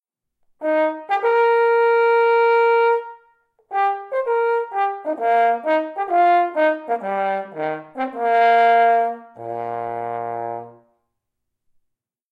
horn solo 0.6 - 11.0

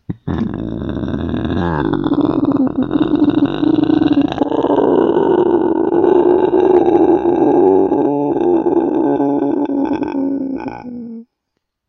Inverse Growling 0.1 - 11.3

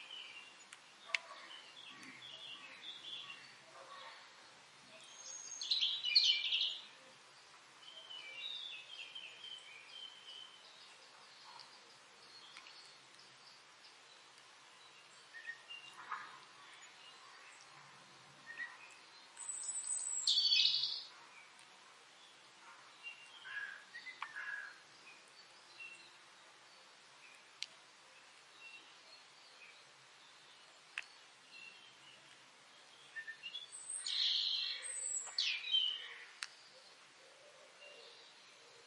birdsong 0.0 - 38.8
small drops of rain are hitting the ground 0.0 - 38.8

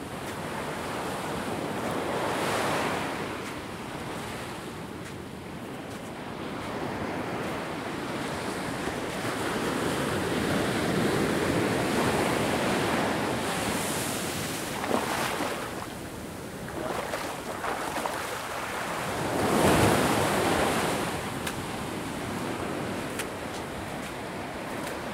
wavesandwater 0.0 - 25.1

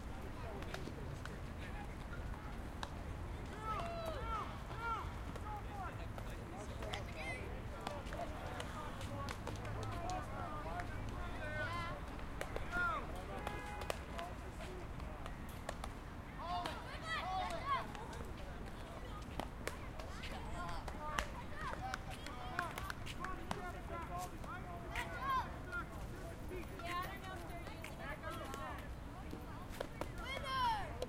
baseball practice 0.0 - 31.0

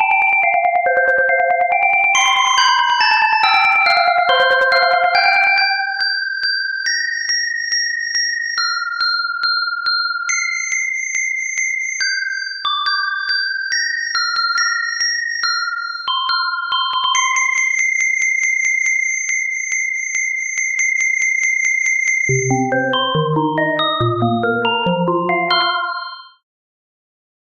Xylophone 0.9 - 6.1
Xylophone 17.0 - 17.8
Xylophone 22.3 - 26.4

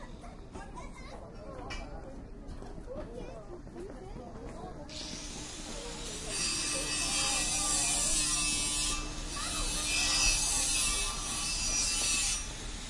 People in the background 0.0 - 12.8
Angle grinder 4.9 - 12.8

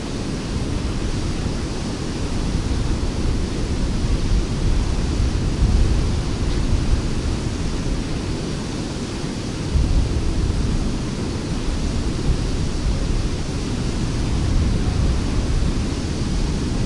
waterfall falling into the see from high cliffs 0.0 - 16.8
wind 0.0 - 16.8

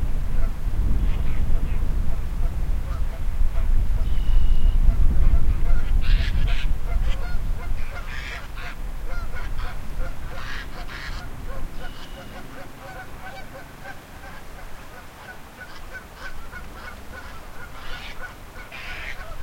wind noise 0.0 - 19.4
bird calls echoing off the river 4.0 - 4.8
bird calls echoing off the river 5.7 - 19.4
fast-flowing river 7.9 - 19.4

